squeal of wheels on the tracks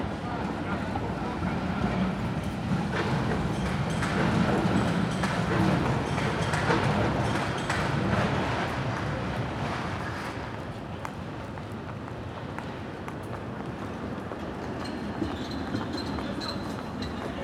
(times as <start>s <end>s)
1.8s 10.7s, 13.8s 17.4s